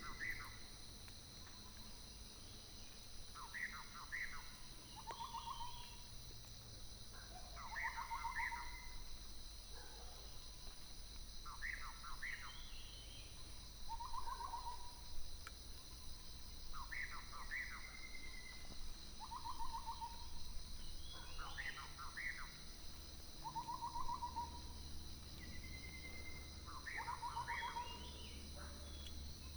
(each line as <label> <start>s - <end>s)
Birdsong 2.5s - 6.0s
Dogs barking 9.8s - 10.3s
Birdsong 16.7s - 29.5s